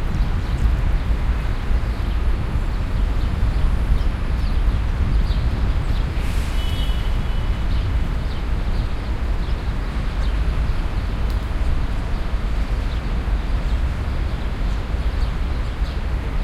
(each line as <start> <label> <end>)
0.0 traffic 16.4